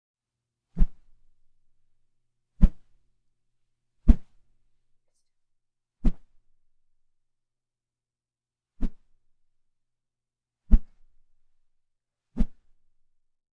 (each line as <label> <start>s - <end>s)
Quick small wooshes 4.1s - 4.4s